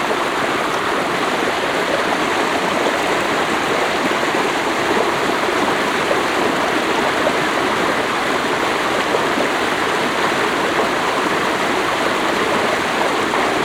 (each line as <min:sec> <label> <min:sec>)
0:00.0 vivid small stream with fresh cold water 0:13.6